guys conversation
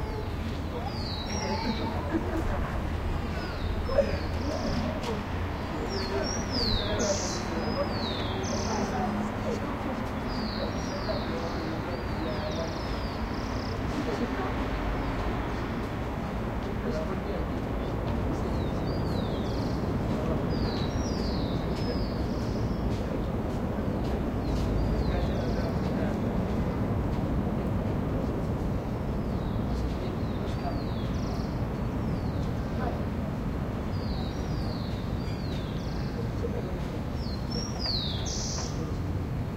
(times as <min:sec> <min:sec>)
0:00.7 0:15.1